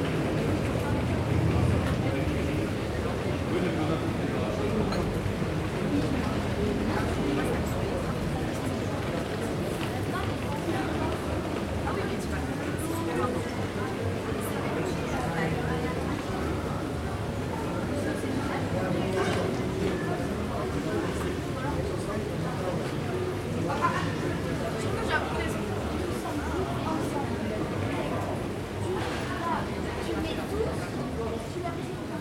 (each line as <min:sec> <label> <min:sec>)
0:00.0 people talk 0:32.2